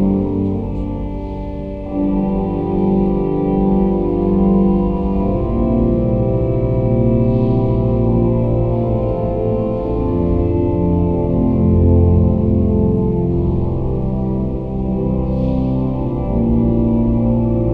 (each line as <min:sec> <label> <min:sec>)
0:00.0 church organ 0:17.7